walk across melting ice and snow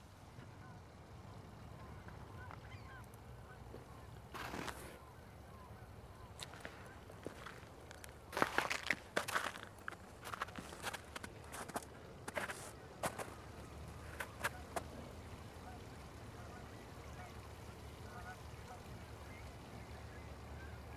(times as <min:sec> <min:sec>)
0:03.7 0:05.0, 0:06.2 0:15.5